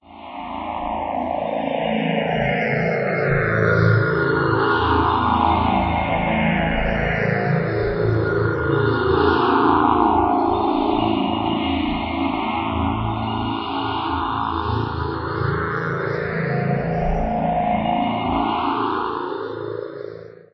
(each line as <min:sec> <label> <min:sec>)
0:00.4 FM pad 0:20.0